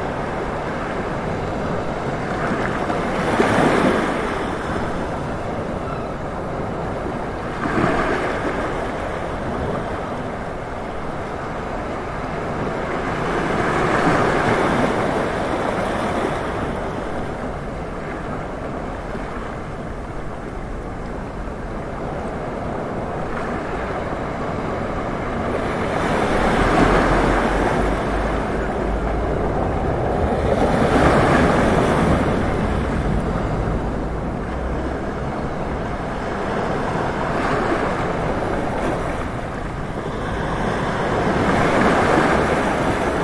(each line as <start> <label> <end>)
0.0 sea 43.2